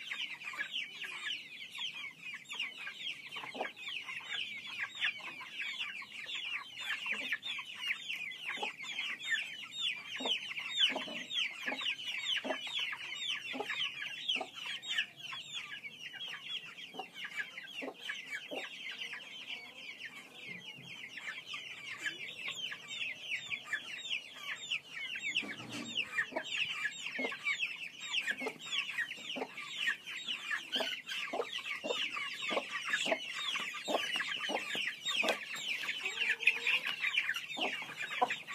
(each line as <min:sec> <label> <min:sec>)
0:00.0 Chicks and 1 Hen Feeding 0:38.5